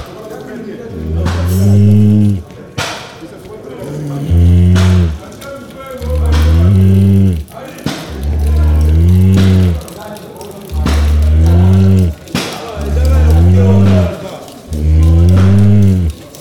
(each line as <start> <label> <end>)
1.0 last breath of a cow 2.4
3.9 last breath of a cow 5.2
6.0 last breath of a cow 7.4
8.1 last breath of a cow 9.8